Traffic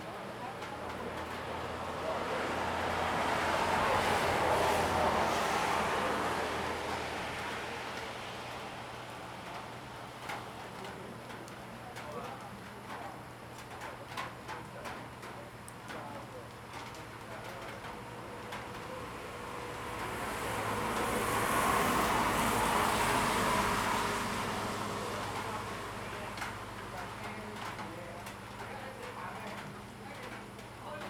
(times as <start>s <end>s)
1.2s 10.4s, 18.1s 27.2s